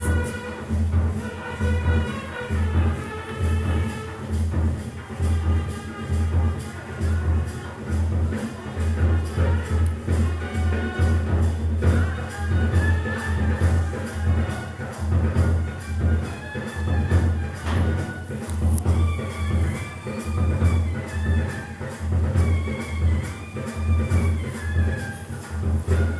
wedding processing band party sound 0:00.0 - 0:26.1

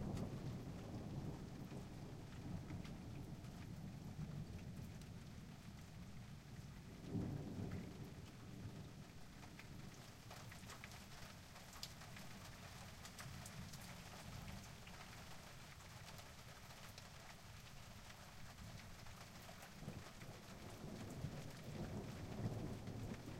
quite calm thunder 0:00.0 - 0:12.6
Soft rain 0:00.0 - 0:23.3
quite calm thunder 0:19.8 - 0:23.3

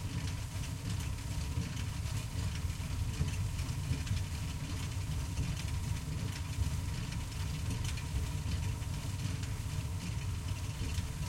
generator outside powers a belt driven stone wheel 0:00.0 - 0:11.2

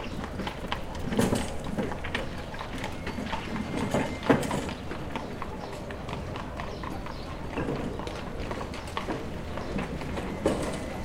birds 0:00.0 - 0:11.0
horse 0:00.0 - 0:11.0

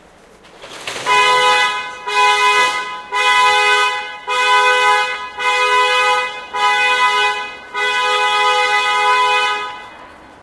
car horn played close 0:01.1 - 0:10.1

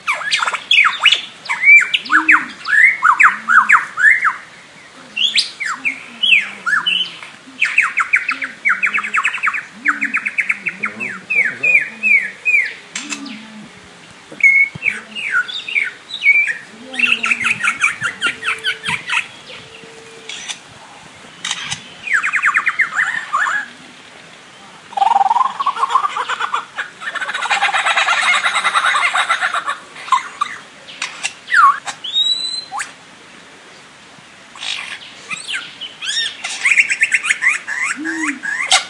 Lyrebird imitating sounds 0:00.0 - 0:04.4
Lyrebird imitating sounds 0:05.0 - 0:20.7
Lyrebird imitating sounds 0:21.4 - 0:24.0
Lyrebird imitating sounds 0:24.9 - 0:32.9
Lyrebird imitating sounds 0:34.6 - 0:38.8

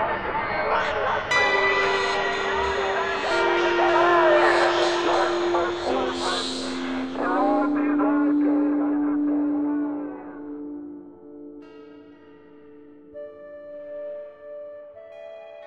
Strange voices 0:00.0 - 0:11.6
synth 0:01.2 - 0:15.6

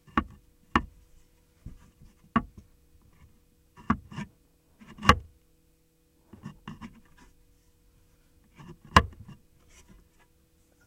open/close small wooden footlocker 0:03.8 - 0:05.3
open/close small wooden footlocker 0:08.5 - 0:09.4

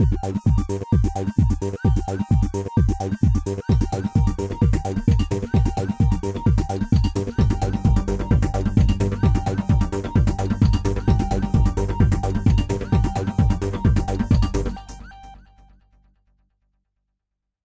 Robotic News Report 0:01.4 - 0:15.4

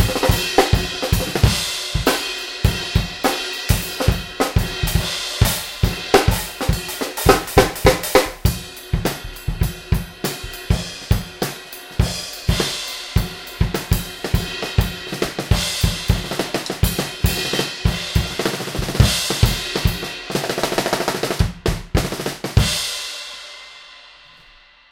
hi hats w tambourine on top 0:00.0 - 0:22.6
snare 0:16.2 - 0:17.8

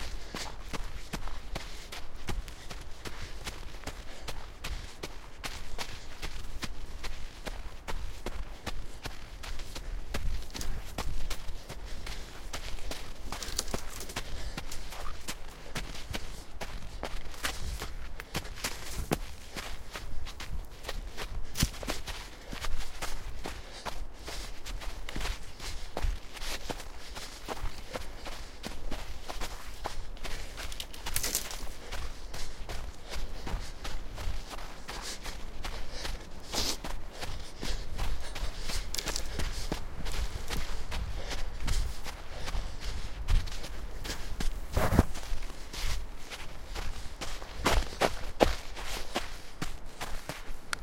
breath 0:00.0 - 0:06.5
Jogging through a snowy forest 0:00.0 - 0:50.8
breath 0:07.2 - 0:20.0
breath 0:20.8 - 0:46.0

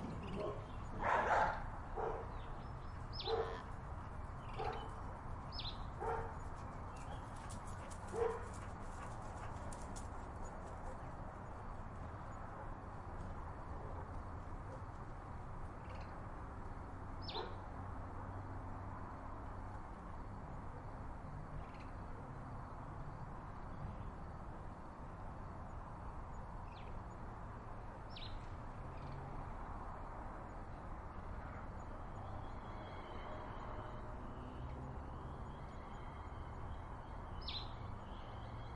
crickets 0:00.0 - 0:38.7
dog barking 0:00.4 - 0:02.3
dog barking 0:03.2 - 0:03.6
dog barking 0:04.6 - 0:04.9
dog barking 0:06.0 - 0:06.4
dog barking 0:08.1 - 0:08.6
dog barking 0:17.3 - 0:17.6

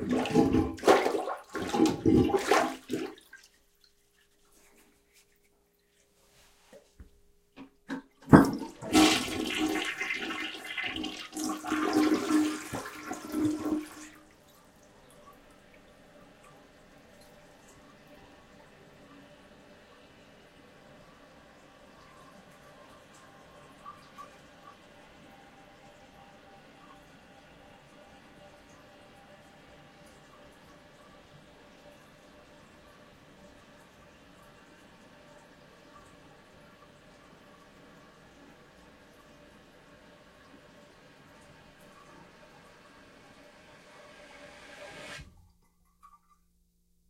flushing a toilet 0:00.0 - 0:03.8
flushing a toilet 0:07.6 - 0:45.5

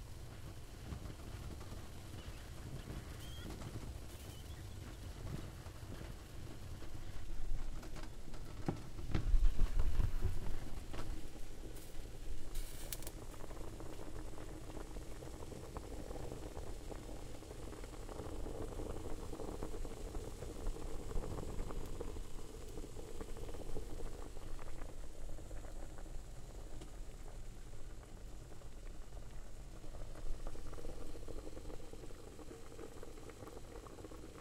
frying 0:00.0 - 0:34.4

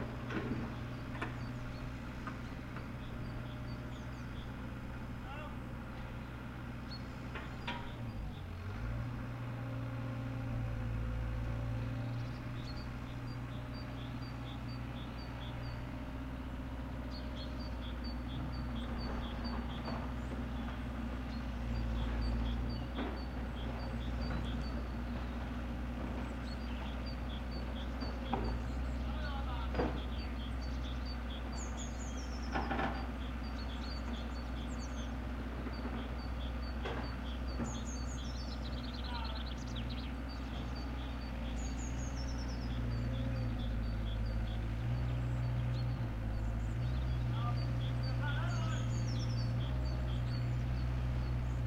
steel tracked 6 ton excavator traveling along a gravelly farm track 0:00.0 - 0:51.6

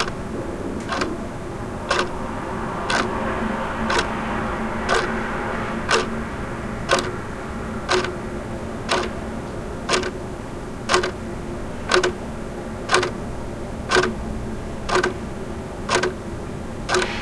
Ticking of the clock 0:00.0 - 0:00.2
Ticking of the clock 0:00.8 - 0:01.1
Ticking of the clock 0:01.9 - 0:02.2
Ticking of the clock 0:02.9 - 0:03.2
Ticking of the clock 0:03.9 - 0:04.2
Ticking of the clock 0:04.9 - 0:05.1
Ticking of the clock 0:05.9 - 0:06.1
Ticking of the clock 0:06.9 - 0:07.2
Ticking of the clock 0:07.9 - 0:08.2
Ticking of the clock 0:08.8 - 0:10.2
Ticking of the clock 0:10.8 - 0:13.3
Ticking of the clock 0:13.9 - 0:14.2
Ticking of the clock 0:14.8 - 0:17.2

